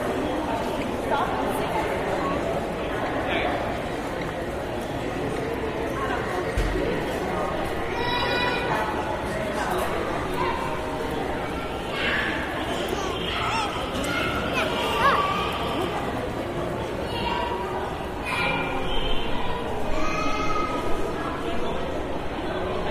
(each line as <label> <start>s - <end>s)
children played nearby 6.1s - 22.9s